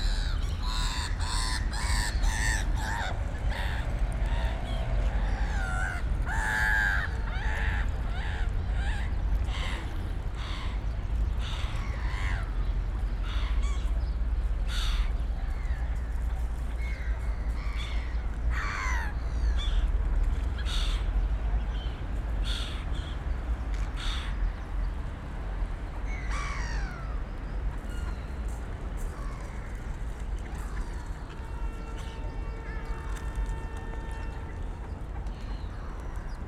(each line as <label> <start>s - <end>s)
birds 0.0s - 36.4s
busy urban environment 0.0s - 36.4s
people 28.6s - 36.4s